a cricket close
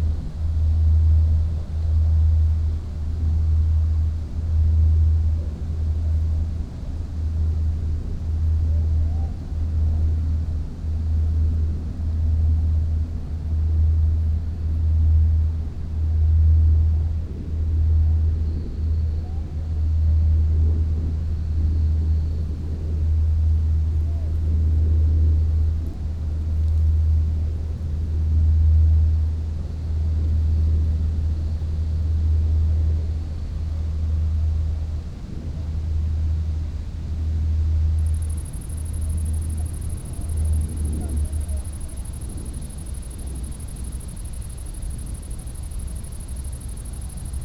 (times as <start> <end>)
38.0 47.4